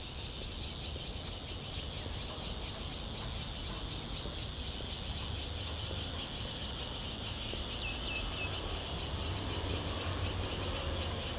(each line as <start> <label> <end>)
4.0 Cicada sounds 11.3